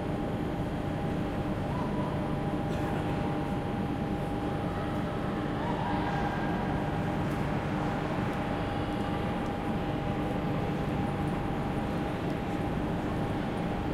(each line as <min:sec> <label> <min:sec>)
0:00.0 trains 0:13.9